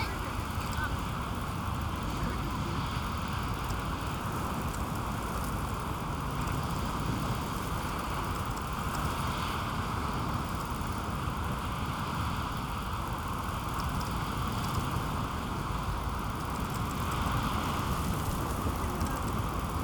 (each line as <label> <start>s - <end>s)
north sea 0.0s - 19.8s